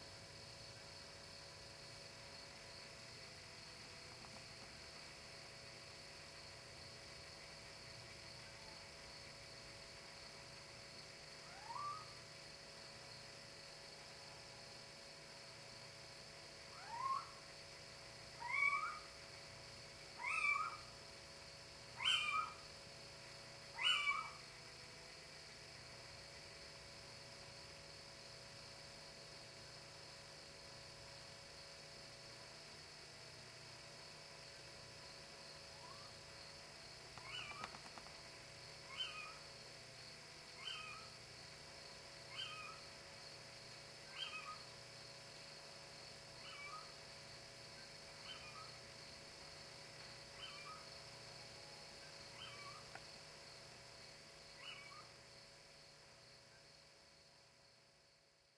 11.4s little-owl (Athene noctua) hooting 12.2s
16.7s little-owl (Athene noctua) hooting 17.5s
18.3s little-owl (Athene noctua) hooting 19.2s
20.1s little-owl (Athene noctua) hooting 21.0s
21.9s little-owl (Athene noctua) hooting 22.6s
23.7s little-owl (Athene noctua) hooting 24.5s
35.7s little-owl (Athene noctua) hooting 36.2s
37.2s little-owl (Athene noctua) hooting 37.8s
38.8s little-owl (Athene noctua) hooting 39.5s
40.6s little-owl (Athene noctua) hooting 41.2s
42.3s little-owl (Athene noctua) hooting 42.9s
44.1s little-owl (Athene noctua) hooting 44.7s
46.4s little-owl (Athene noctua) hooting 47.0s
48.2s little-owl (Athene noctua) hooting 48.9s
50.3s little-owl (Athene noctua) hooting 50.9s
52.0s little-owl (Athene noctua) hooting 53.0s
54.6s little-owl (Athene noctua) hooting 55.2s

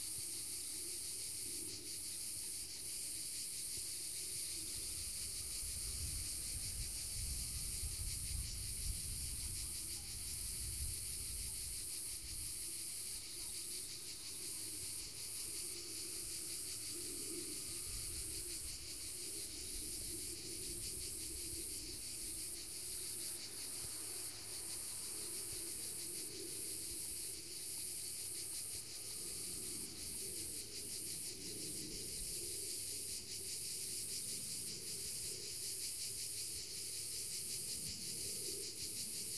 0.0s cicadas 39.3s

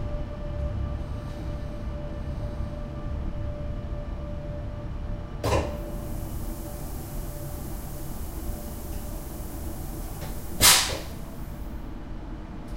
0.0s train noises 12.7s

